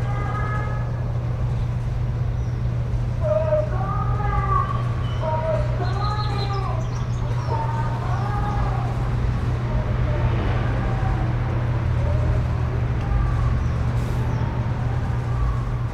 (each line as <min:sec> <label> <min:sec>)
0:00.0 birds 0:09.6
0:00.0 airplanes 0:15.9
0:00.0 cars passing by 0:15.9
0:11.9 birds 0:15.9